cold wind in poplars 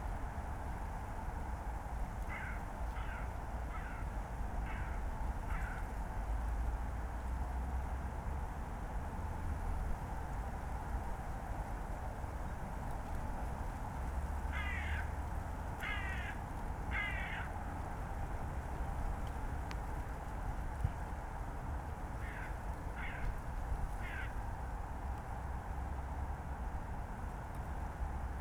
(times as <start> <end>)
8.1 28.4